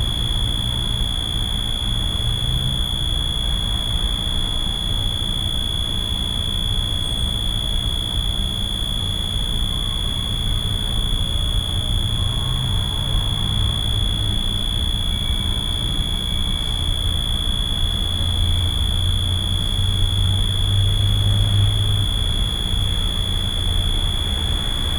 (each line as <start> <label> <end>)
0.0 Electric power transformer 24.9
9.8 Road traffic 24.9